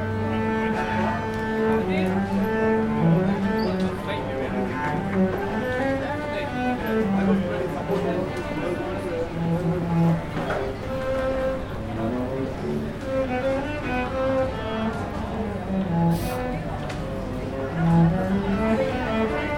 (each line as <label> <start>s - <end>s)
viola player 0.0s - 19.5s